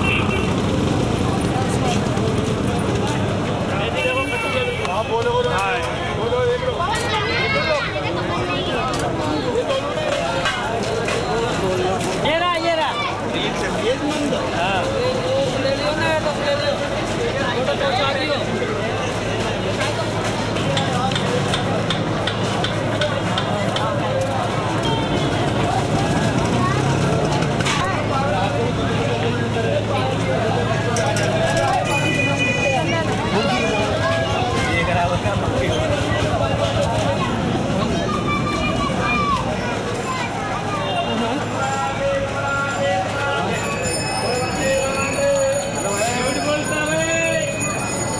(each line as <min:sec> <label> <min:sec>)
0:00.0 buses 0:48.1
0:00.0 hawkers offering their products to pedestrians 0:48.1
0:00.0 lots of voices 0:48.1
0:00.0 traffic jam with honking cars 0:48.1
0:00.0 tuktuks 0:48.1